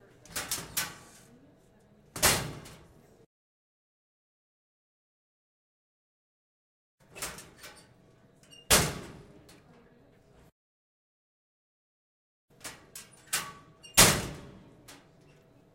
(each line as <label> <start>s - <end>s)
door 8.5s - 9.2s
door 12.6s - 14.5s